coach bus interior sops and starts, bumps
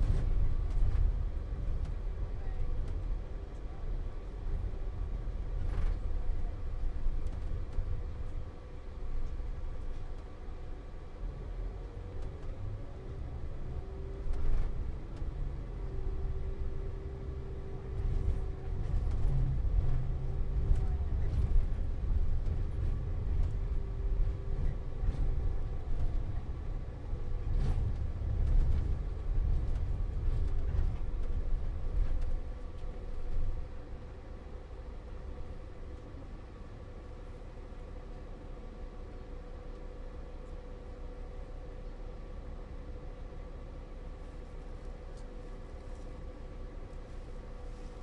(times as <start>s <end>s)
42.8s 48.0s